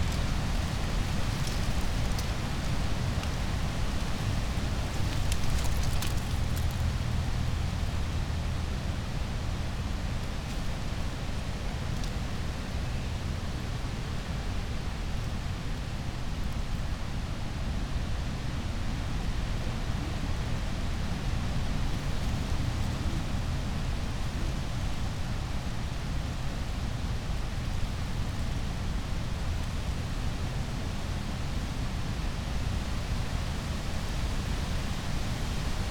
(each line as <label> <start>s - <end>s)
wind 0.0s - 35.9s
pile of brushwood with dry leaves 4.4s - 7.0s